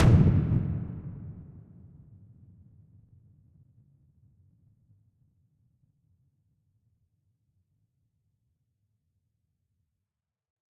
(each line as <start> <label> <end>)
0.0 Frequency Impact 1.2